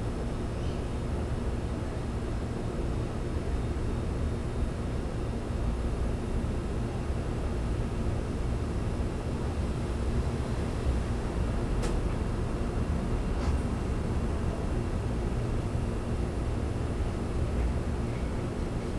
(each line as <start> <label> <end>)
0.0 AC vents 18.9
7.8 typical urban sounds 18.9